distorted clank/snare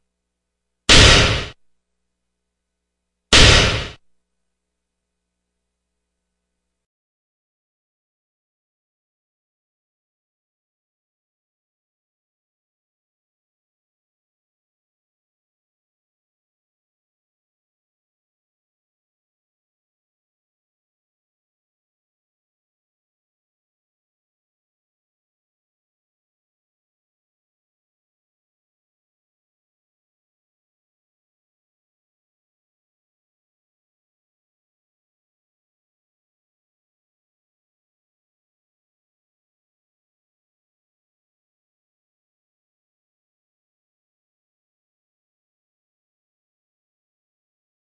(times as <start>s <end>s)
0.9s 1.6s, 3.3s 4.1s